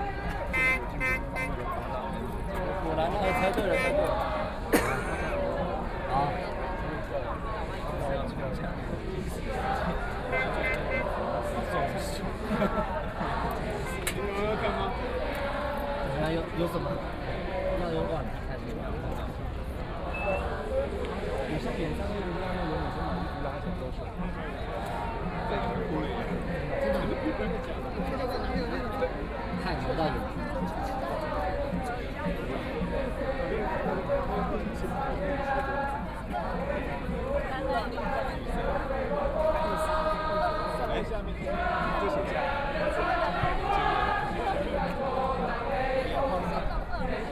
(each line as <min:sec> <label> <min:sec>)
0:00.0 singing 0:47.3